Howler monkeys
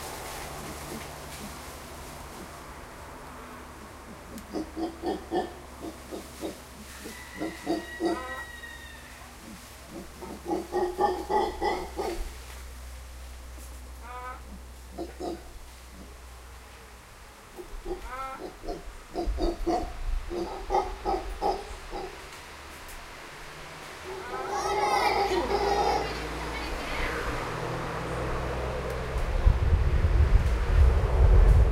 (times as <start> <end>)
3.7 12.4, 14.0 16.2, 17.5 22.3, 24.0 27.4